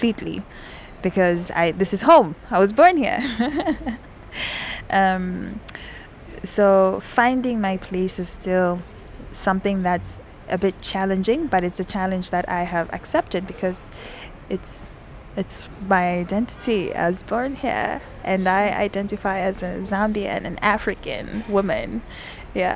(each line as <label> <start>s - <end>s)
conversation 5.6s - 22.7s